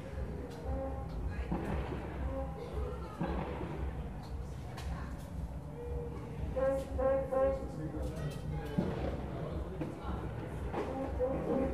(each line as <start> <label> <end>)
1.5 fireworks 2.3
3.1 fireworks 4.0
8.8 fireworks 9.3